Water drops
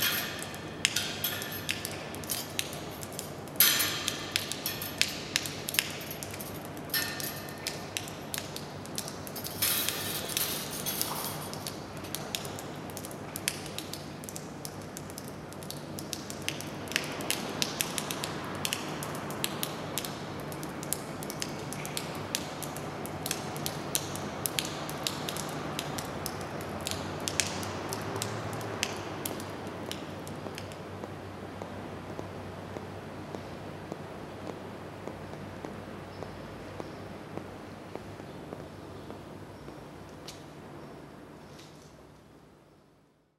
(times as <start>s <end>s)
0.0s 33.5s